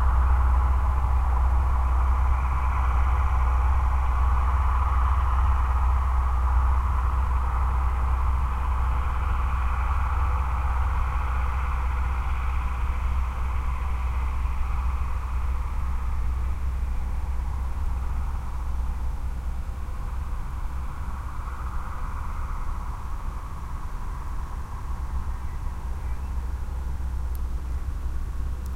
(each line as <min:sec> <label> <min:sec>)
0:00.0 tractor drives by the microphones 0:28.7